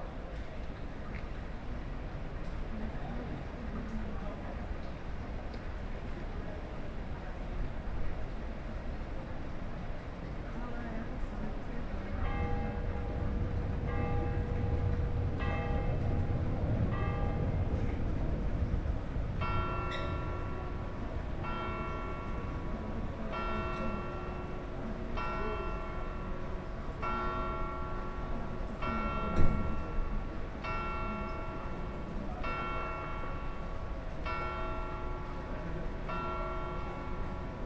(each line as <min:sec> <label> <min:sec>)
0:11.5 Night Bells 0:37.6